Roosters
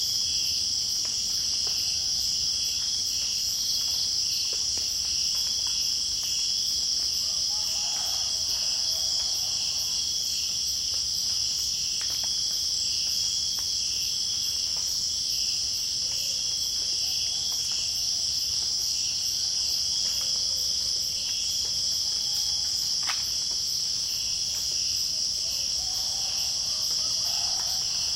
0:07.2 0:10.0, 0:25.5 0:28.1

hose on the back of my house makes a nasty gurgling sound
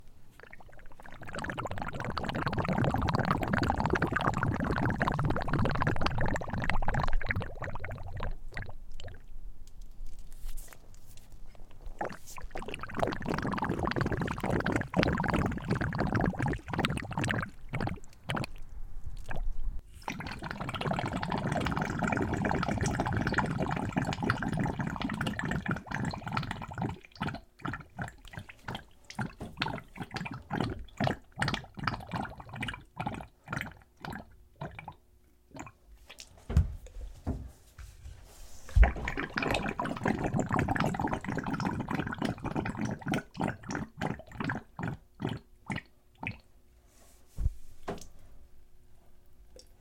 0:00.4 0:09.2, 0:11.9 0:18.6, 0:19.2 0:35.8, 0:38.7 0:46.4

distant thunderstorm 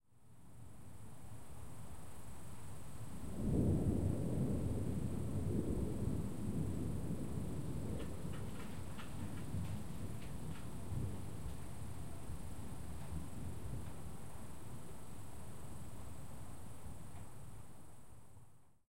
0:03.0 0:16.0

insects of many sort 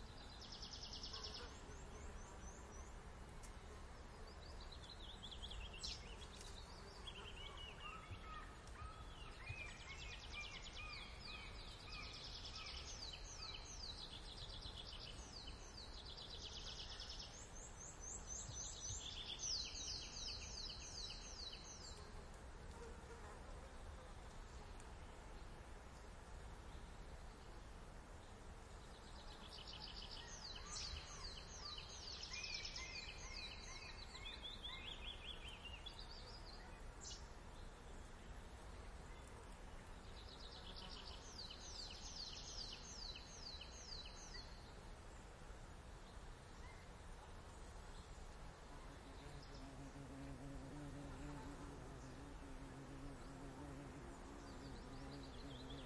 0:47.5 0:55.8

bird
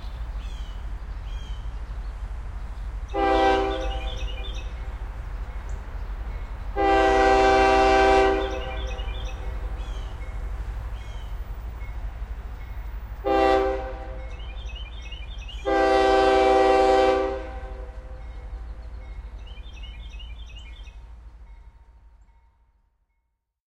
0:03.1 0:04.8, 0:08.4 0:10.3

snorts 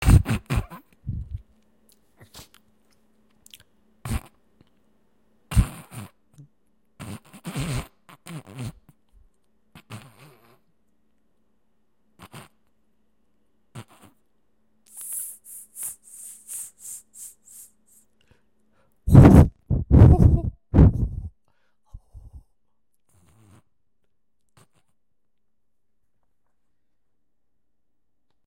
0:00.0 0:01.4, 0:04.0 0:04.4, 0:05.5 0:09.0, 0:09.8 0:10.7, 0:12.2 0:12.6, 0:13.8 0:14.2, 0:14.9 0:17.8, 0:23.1 0:23.7, 0:24.6 0:24.9

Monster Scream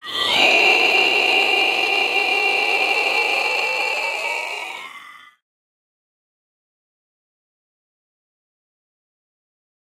0:00.0 0:05.4

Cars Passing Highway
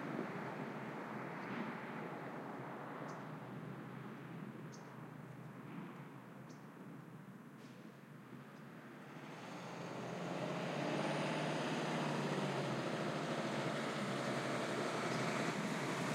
0:08.8 0:16.1

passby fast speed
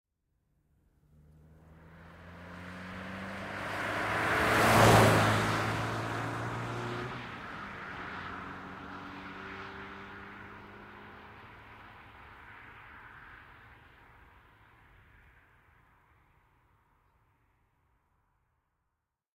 0:01.1 0:11.0

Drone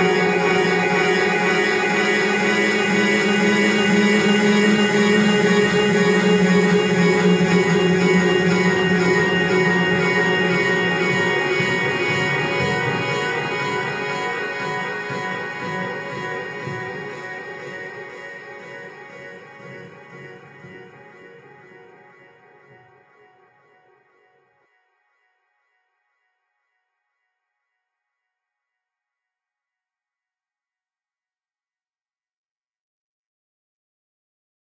0:00.0 0:22.2

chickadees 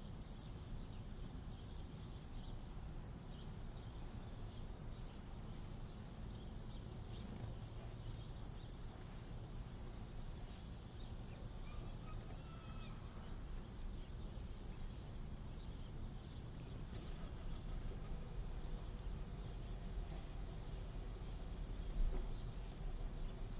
0:03.1 0:15.2

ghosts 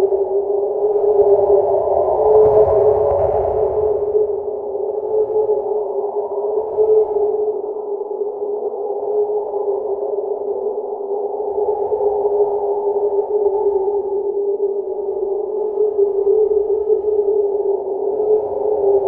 0:00.3 0:05.9

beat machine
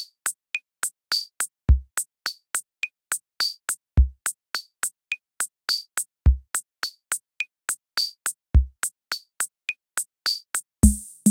0:10.8 0:11.3

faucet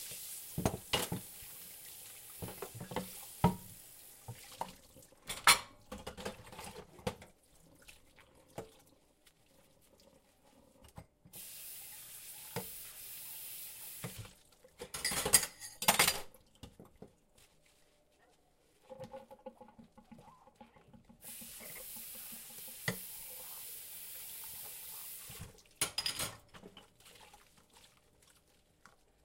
0:00.0 0:05.6, 0:11.3 0:16.3, 0:19.0 0:26.4

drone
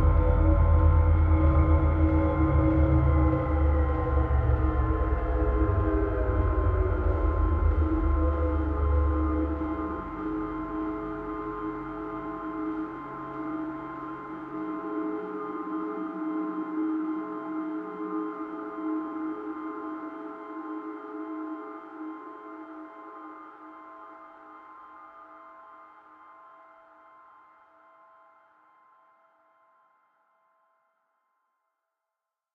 0:00.0 0:19.5

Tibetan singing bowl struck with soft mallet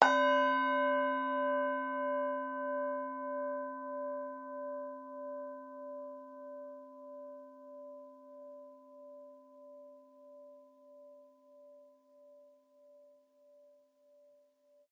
0:00.0 0:04.9

